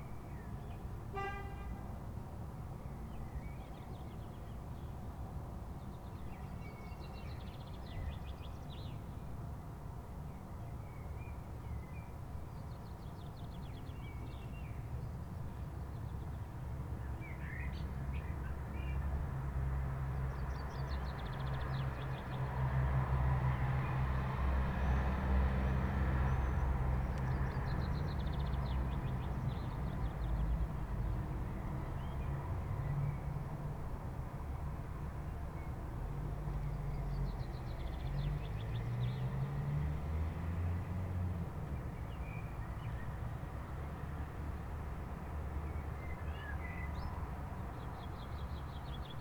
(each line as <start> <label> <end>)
0.1 friday evening traffic 3.0
16.8 friday evening traffic 49.2